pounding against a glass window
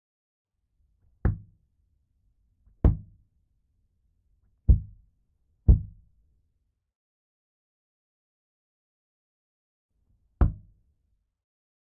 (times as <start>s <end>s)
1.2s 1.5s, 2.8s 3.2s, 4.7s 5.0s, 5.7s 6.0s, 10.4s 10.7s